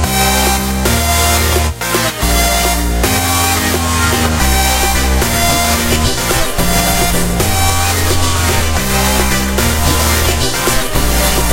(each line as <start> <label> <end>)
1.5 song 11.5